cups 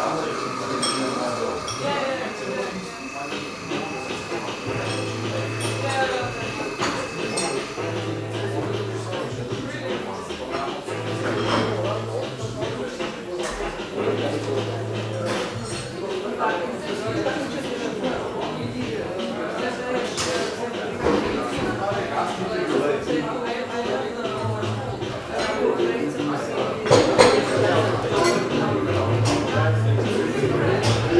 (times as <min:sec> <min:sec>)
0:00.0 0:09.0